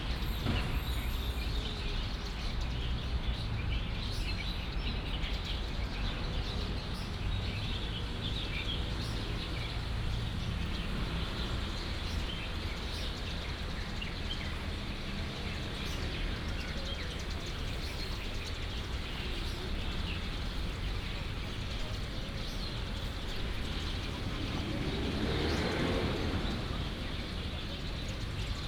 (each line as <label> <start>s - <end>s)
Many sparrows 0.0s - 28.6s
Traffic sound 0.0s - 28.6s